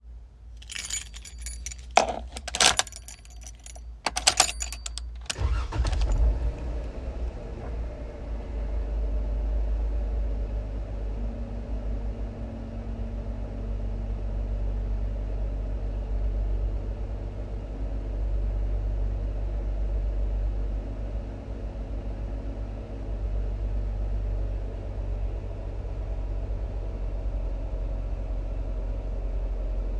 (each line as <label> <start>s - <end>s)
keys being inserted/removed 0.6s - 6.7s
Jeep Wrangler Sahara engine start, run and stop 0.6s - 29.9s